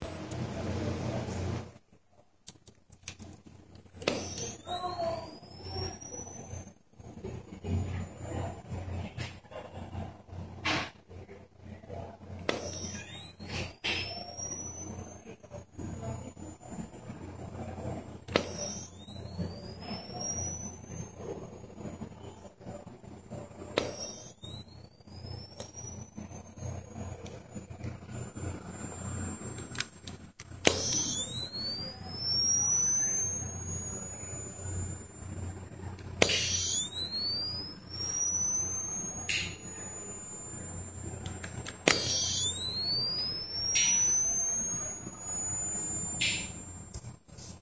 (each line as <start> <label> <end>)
2.5 charging sound of external camera flash 7.3
12.4 charging sound of external camera flash 47.6